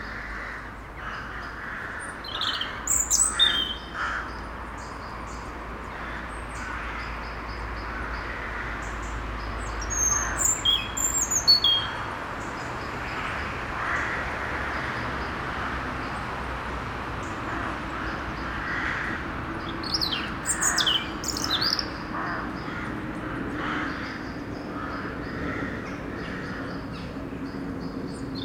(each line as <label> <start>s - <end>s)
Crows war 0.0s - 4.6s
cars driving the small street 0.0s - 28.4s
plane is passing by 0.0s - 28.4s
blackbird sing very near the recorder 1.1s - 13.3s
Crows war 5.8s - 15.9s
Crows war 17.2s - 27.1s
blackbird sing very near the recorder 18.0s - 28.4s